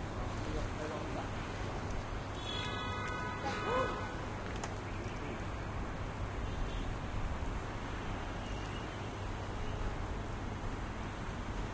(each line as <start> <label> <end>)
0.0 traffic 11.7
0.0 wind 11.7